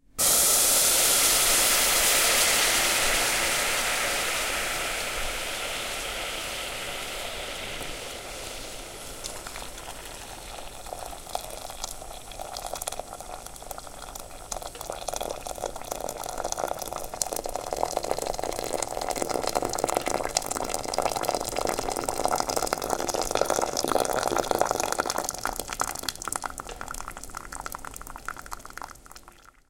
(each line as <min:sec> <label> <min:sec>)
0:00.2 Boiling water striking the bottom of a hot metal saucepan 0:29.6